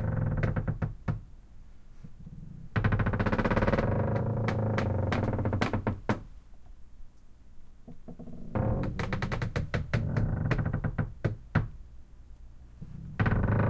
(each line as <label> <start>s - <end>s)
wood creaks deep long 0.0s - 1.2s
wood creaks deep long 2.7s - 6.3s
wood creaks deep long 7.9s - 11.8s
wood creaks deep long 13.0s - 13.6s